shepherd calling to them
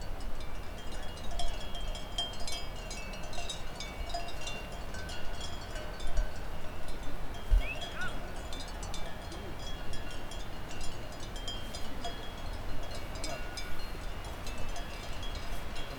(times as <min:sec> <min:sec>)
0:07.6 0:08.2